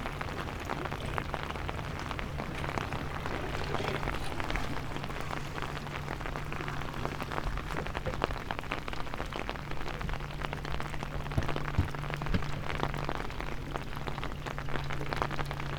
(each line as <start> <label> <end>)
0.0 seawaves 10.0
0.0 rain 15.7